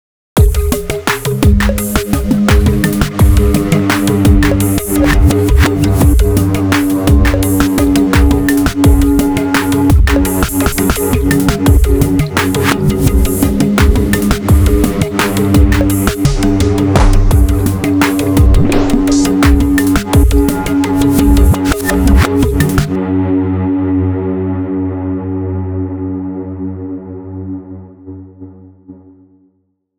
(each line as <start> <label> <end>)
0.4 drumloop 23.0
0.4 melody 23.0
0.4 bass 28.9